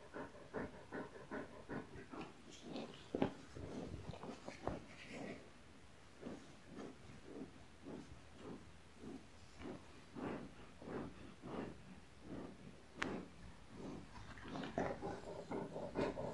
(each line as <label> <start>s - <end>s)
panting 0.0s - 5.4s
Dog Noises 0.0s - 5.5s
Dog Noises 6.2s - 16.3s
sniffing 6.2s - 16.3s
panting 6.2s - 16.3s